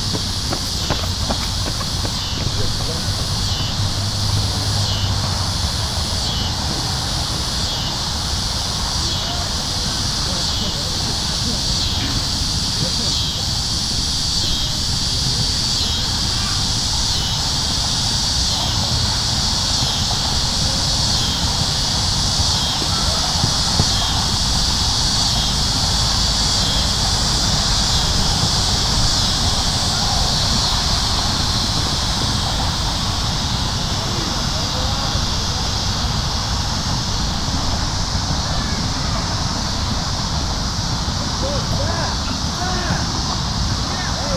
Cicada Swarm 0.0 - 44.3
soccer game 0.0 - 44.3
traffic 0.0 - 44.3

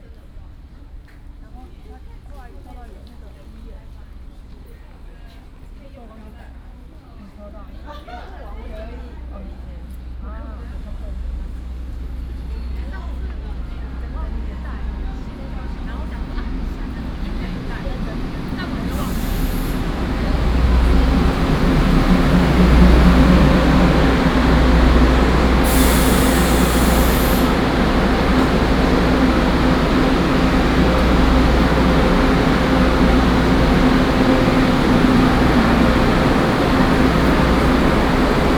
The train travels 13.2 - 38.5
Traffic sound 18.1 - 38.5
Construction sound 18.9 - 38.5

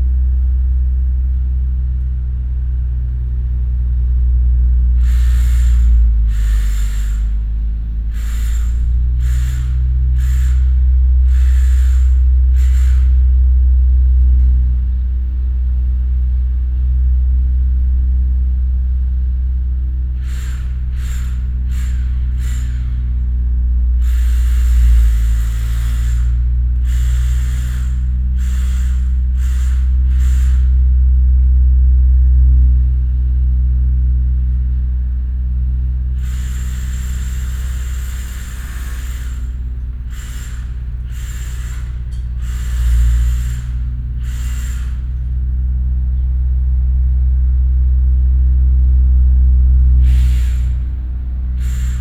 excavator in operation 2.8 - 14.8
drilling 4.9 - 13.4
excavator in operation 19.7 - 33.3
drilling 20.1 - 31.0
excavator in operation 34.0 - 52.0
drilling 36.1 - 45.7
drilling 49.9 - 52.0

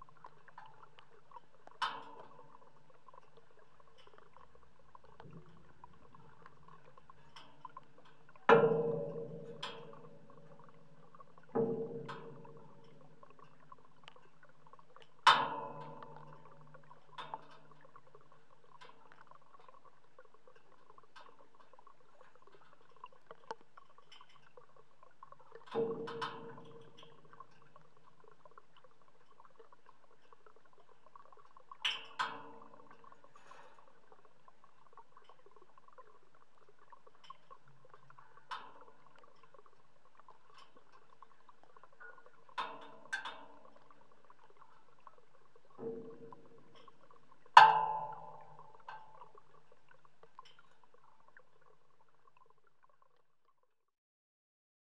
frozen pond 0.0 - 53.9

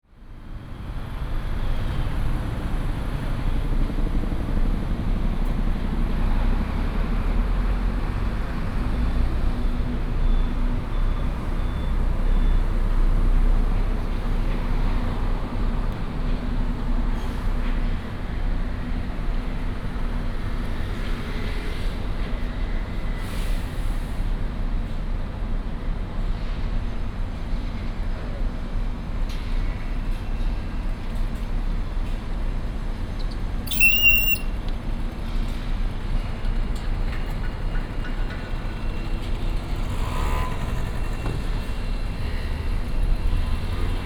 Traffic sound 0.1 - 25.2
Traffic sound 28.9 - 44.0

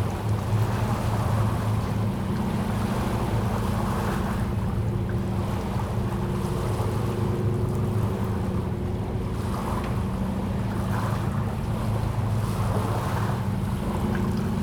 river 0.0 - 14.6

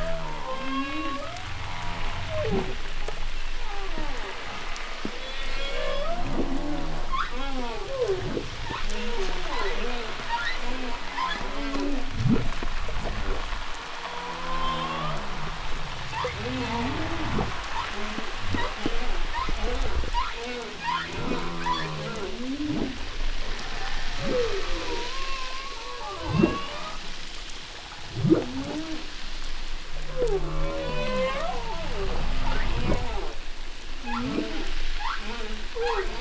humpback whales 0.0 - 27.2
humpback whales 30.0 - 33.4
humpback whales 34.0 - 36.2

